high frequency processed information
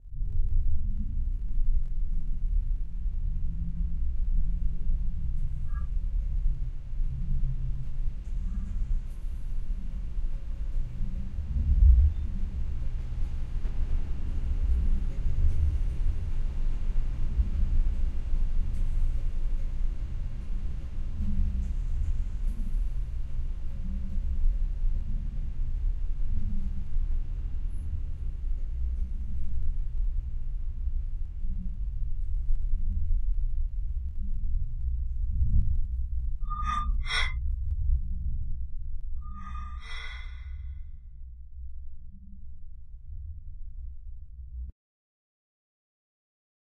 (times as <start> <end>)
36.5 37.3